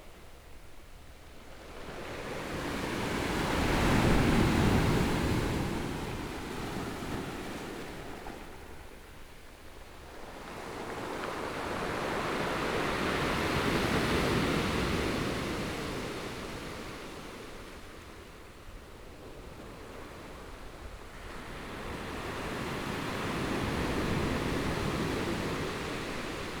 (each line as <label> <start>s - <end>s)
waves 1.5s - 26.6s